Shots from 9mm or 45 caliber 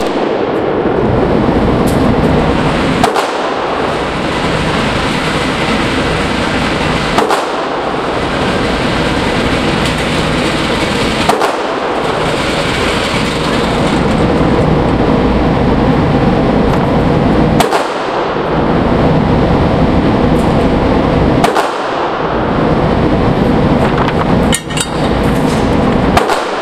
0:00.0 0:00.9, 0:01.8 0:14.7, 0:17.6 0:18.6, 0:21.4 0:22.5, 0:23.9 0:26.6

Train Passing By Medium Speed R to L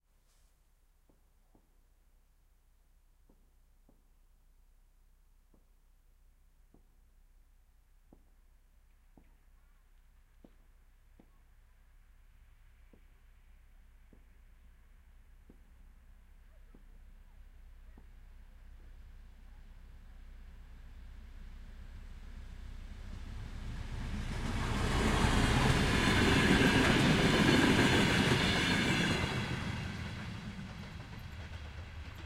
0:18.4 0:32.2

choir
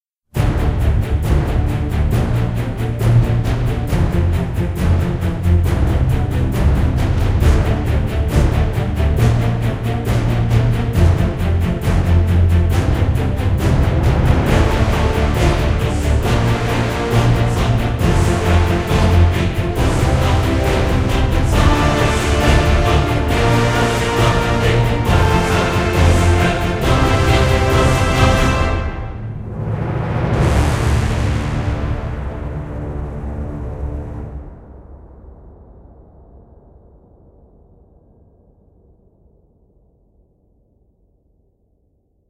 0:00.5 0:29.3

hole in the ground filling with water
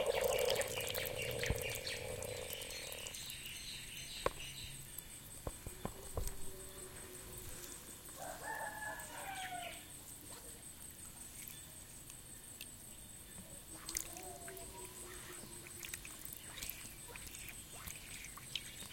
0:00.0 0:05.2, 0:13.6 0:18.9

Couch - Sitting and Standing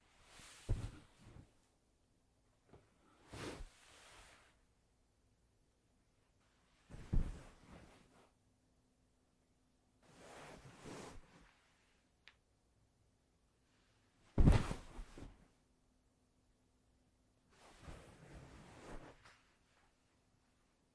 0:00.0 0:01.6, 0:06.7 0:08.2, 0:14.2 0:15.4, 0:17.5 0:19.8

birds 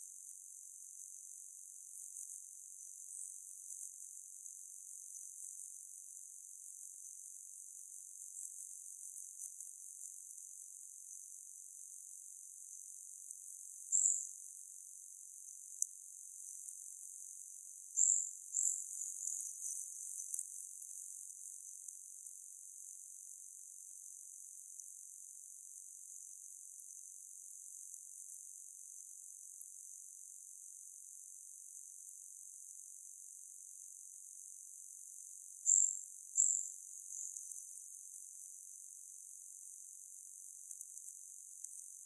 0:35.7 0:37.7

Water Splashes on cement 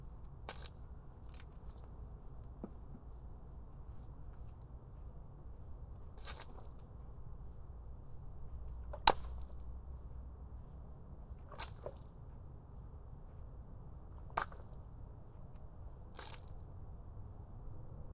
0:16.2 0:16.8

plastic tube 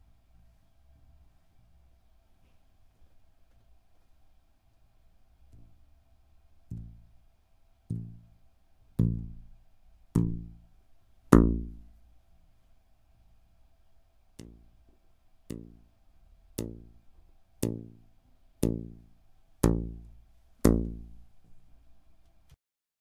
0:06.7 0:07.1, 0:07.9 0:08.4, 0:09.0 0:09.6, 0:11.3 0:12.0, 0:14.4 0:15.9, 0:16.6 0:21.3

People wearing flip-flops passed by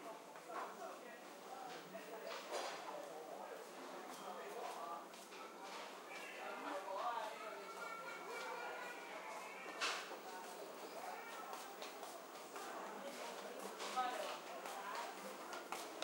0:07.2 0:16.0

